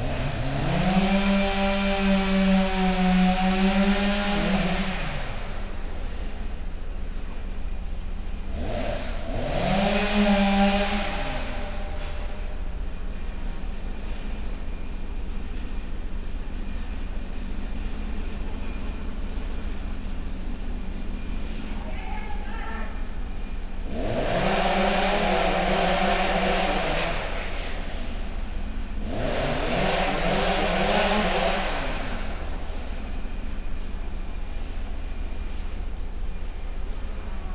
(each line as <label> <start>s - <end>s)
chainsaw 0.0s - 21.8s
lumberjack conversations 21.6s - 23.6s
chainsaw 22.8s - 37.5s